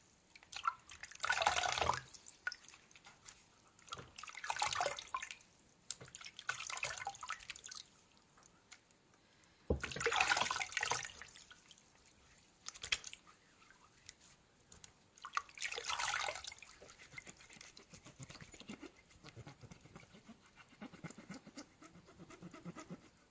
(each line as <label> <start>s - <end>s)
Washing Feet in water 6.0s - 7.8s
Washing Feet in water 9.8s - 14.2s
Washing Feet in water 15.2s - 18.8s